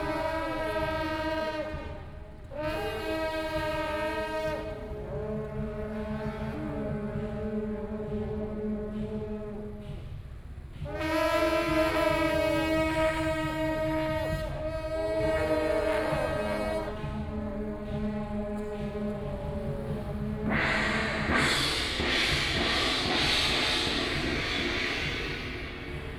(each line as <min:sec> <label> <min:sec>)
0:00.0 Temple festival parade 0:26.1